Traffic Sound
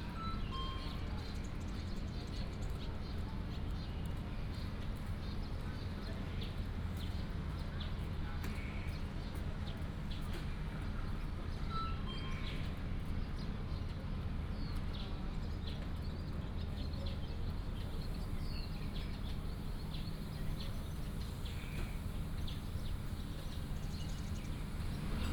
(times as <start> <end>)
16.9 25.3